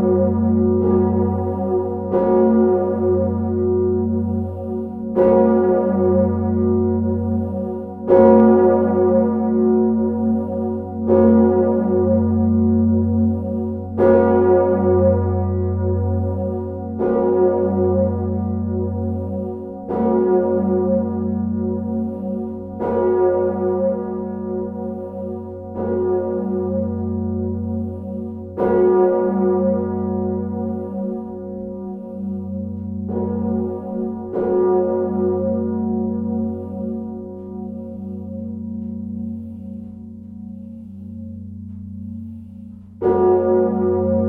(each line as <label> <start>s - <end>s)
big bell 0.0s - 44.2s